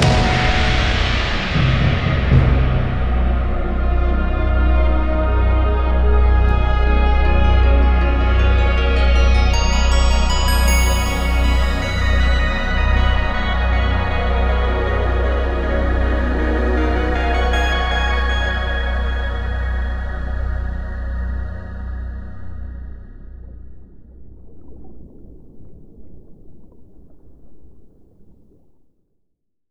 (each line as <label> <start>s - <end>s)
flowing water 0.0s - 20.0s
flowing water 22.0s - 28.9s